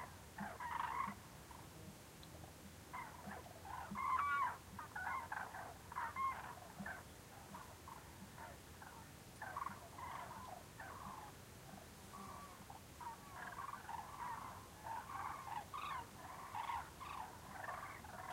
Cranes calling, distant 0:00.0 - 0:01.7
Cranes calling, distant 0:02.9 - 0:18.3

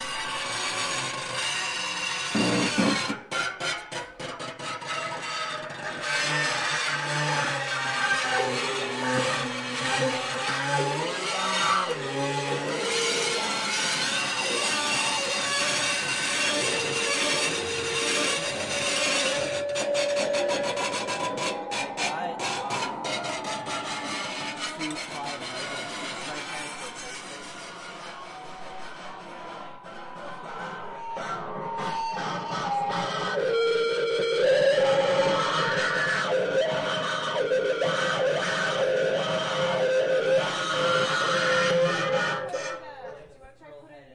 students building intonomuri instruments 0:00.0 - 0:44.1

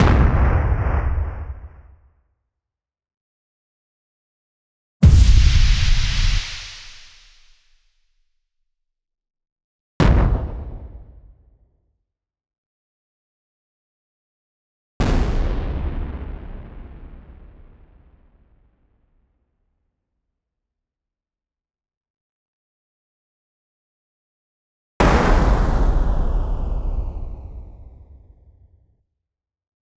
explosion sounds 0:05.0 - 0:07.5

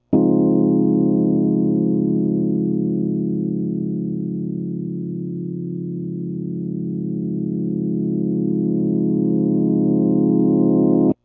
Rhodes that goes forwards and backwards 0:00.0 - 0:11.2

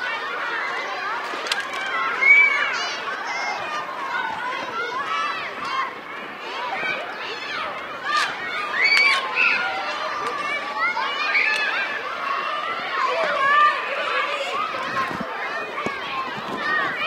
kids 0:00.0 - 0:17.0
street hockey 0:00.0 - 0:17.0

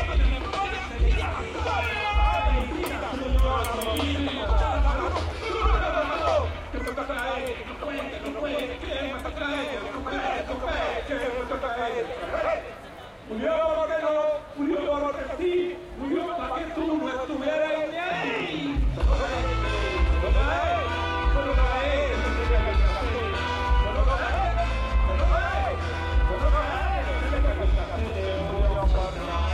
crowd 0:00.0 - 0:29.5

